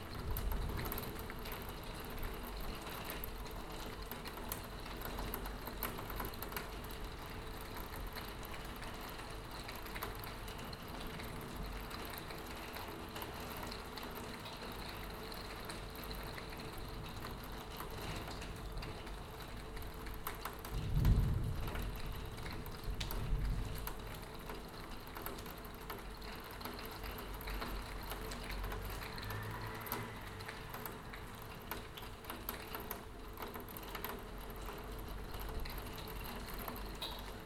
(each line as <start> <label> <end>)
0.0 rain 37.4